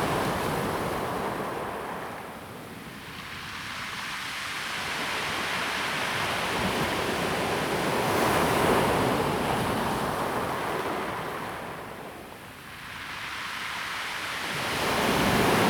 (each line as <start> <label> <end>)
12.6 waves 15.6